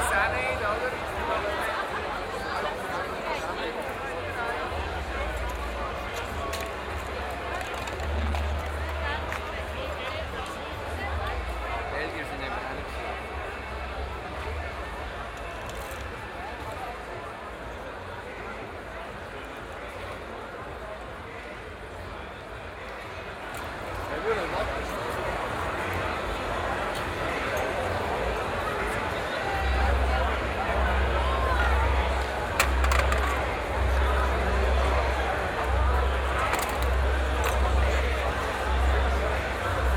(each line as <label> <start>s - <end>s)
streets of Aarau are full of people 0.0s - 39.9s